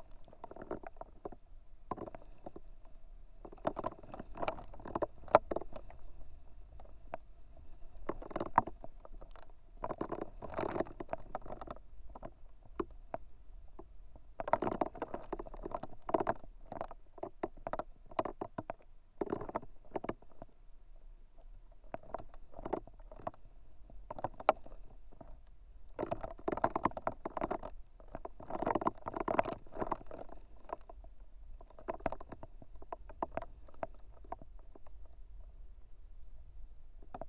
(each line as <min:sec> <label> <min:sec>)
0:00.0 Lonely dried reed 0:20.5